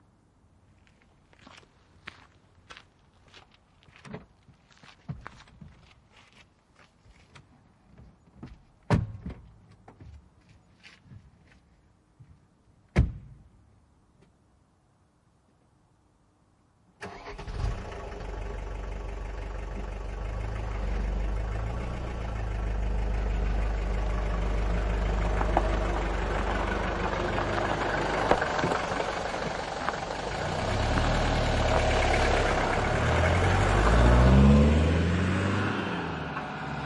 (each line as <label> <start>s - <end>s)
auton ovi 17.0s - 36.8s
car leaves 17.0s - 36.8s